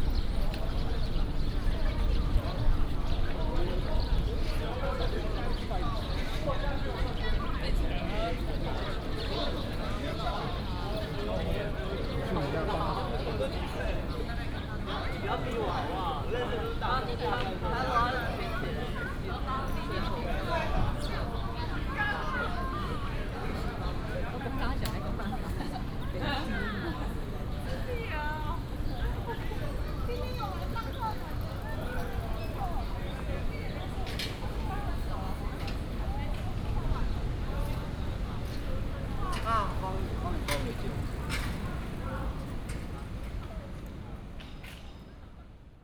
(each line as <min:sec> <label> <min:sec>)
0:00.0 walking in the university 0:45.7
0:24.3 bicycle 0:43.5